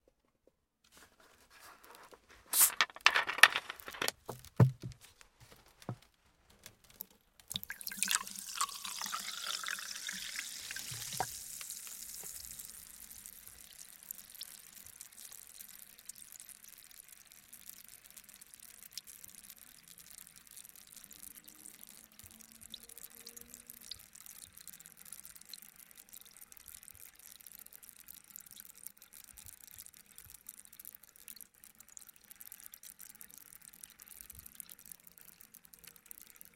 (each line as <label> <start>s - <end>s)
bubbling of the seltzer water 7.4s - 36.5s
seltzer water being poured into a glass 7.5s - 15.3s